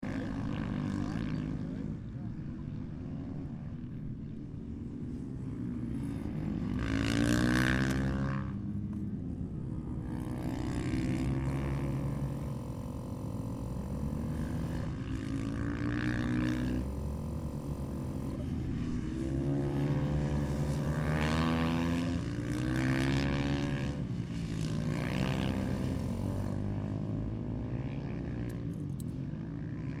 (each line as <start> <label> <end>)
0.0 motorbikes 30.0